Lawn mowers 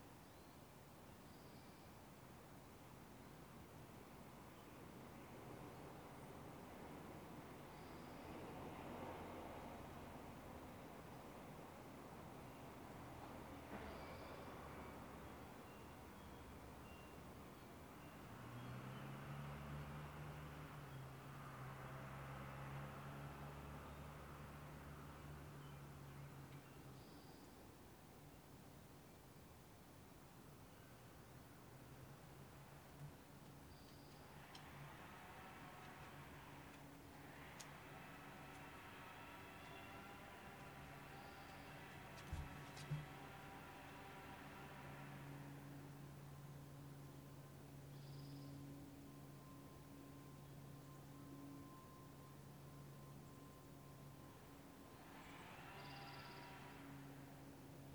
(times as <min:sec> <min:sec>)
0:34.3 0:47.1, 0:54.3 0:57.9